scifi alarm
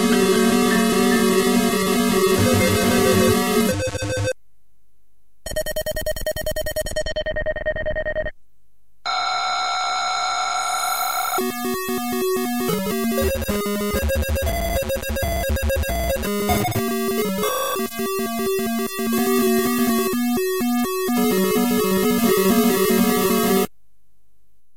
0:09.1 0:23.5

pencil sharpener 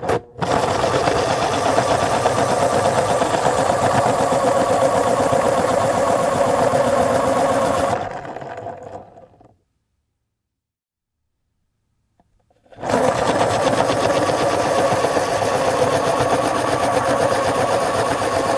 0:00.0 0:08.1, 0:12.5 0:18.5

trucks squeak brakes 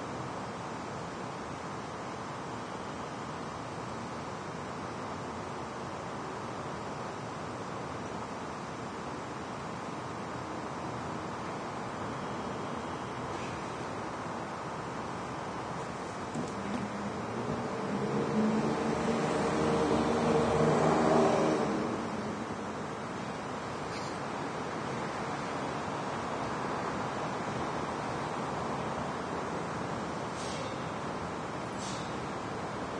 0:12.0 0:13.8, 0:23.8 0:24.2, 0:30.3 0:31.0, 0:31.7 0:32.4

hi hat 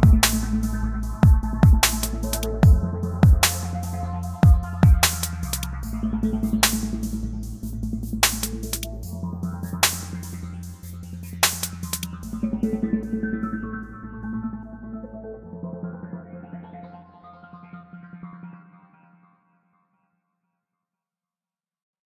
0:00.0 0:13.2

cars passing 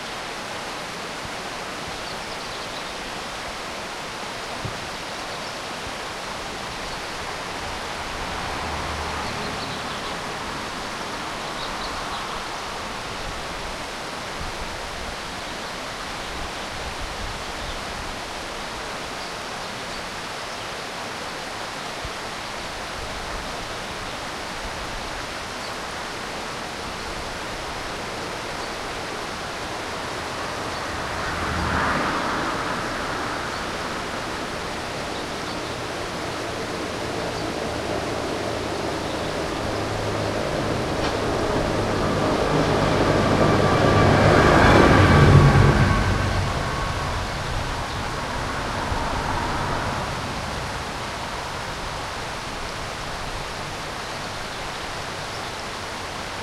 0:06.6 0:13.6, 0:27.9 0:56.4

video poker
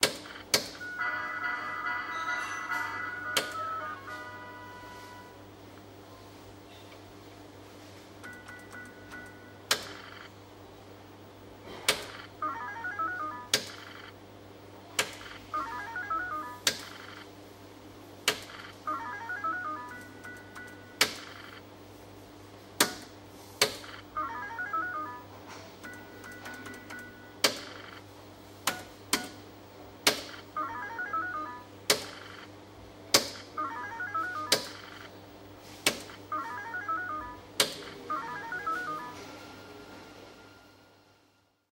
0:12.0 0:14.2, 0:15.2 0:17.3, 0:18.5 0:21.7, 0:23.8 0:28.0, 0:30.2 0:32.6, 0:33.4 0:35.2, 0:36.1 0:39.4

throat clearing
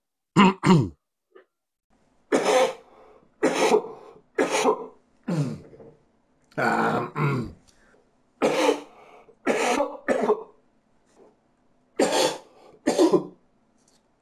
0:00.4 0:01.0, 0:03.4 0:05.9, 0:06.6 0:07.6

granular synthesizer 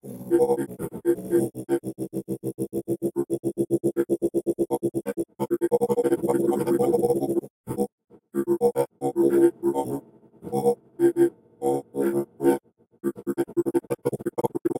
0:05.0 0:14.7

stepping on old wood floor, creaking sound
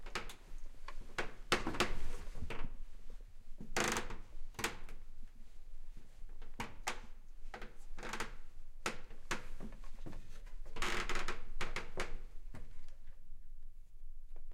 0:09.3 0:12.8

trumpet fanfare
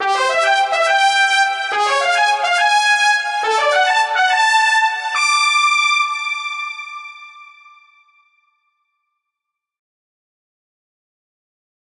0:00.0 0:06.4

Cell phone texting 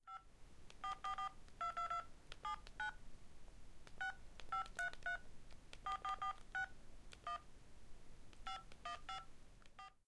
0:00.8 0:03.0, 0:03.9 0:07.5, 0:08.4 0:10.0

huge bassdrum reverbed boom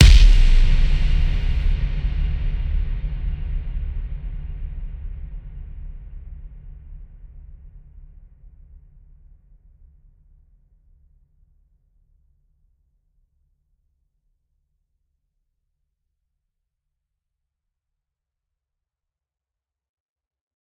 0:00.0 0:07.0

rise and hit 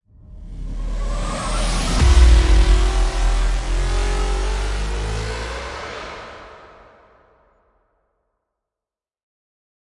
0:00.8 0:07.1

